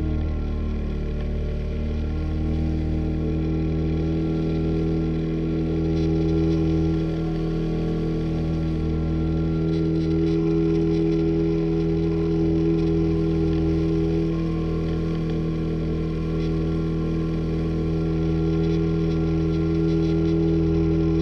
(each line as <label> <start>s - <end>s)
long-boat 0.0s - 21.2s